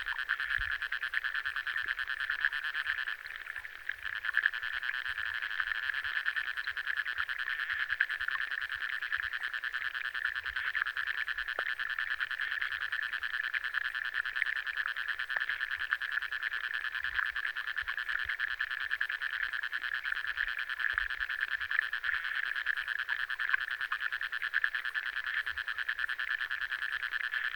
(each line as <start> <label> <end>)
0.0 underwater activity 4.1